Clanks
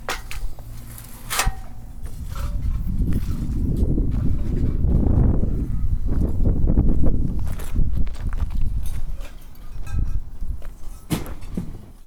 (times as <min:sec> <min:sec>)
0:00.0 0:04.8, 0:08.8 0:12.0